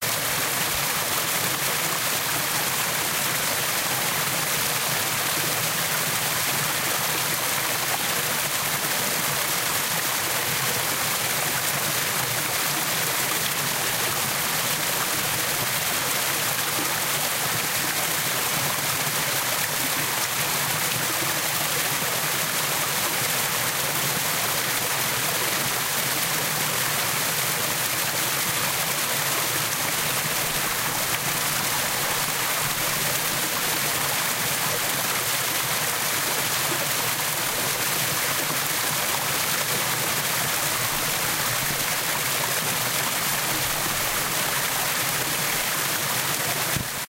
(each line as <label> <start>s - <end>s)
brook 0.0s - 47.0s